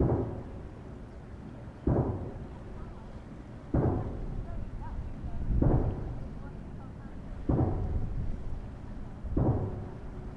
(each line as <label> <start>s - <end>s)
pounding 1.9s - 2.5s
pounding 3.7s - 4.4s
pounding 7.5s - 8.1s
pounding 9.3s - 10.0s